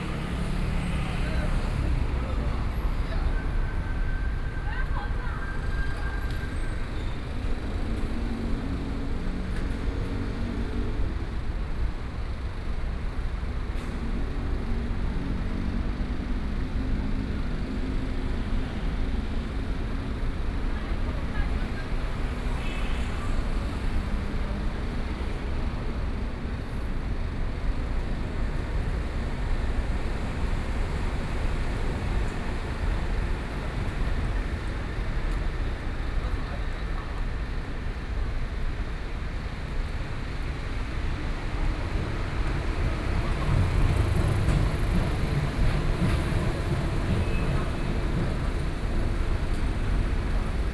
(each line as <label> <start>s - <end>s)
Traffic noise 0.0s - 50.7s